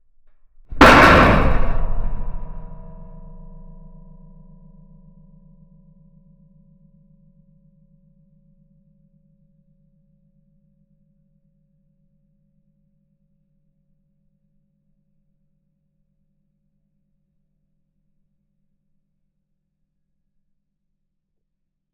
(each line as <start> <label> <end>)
0.7 metal crash reverberant 1 2.8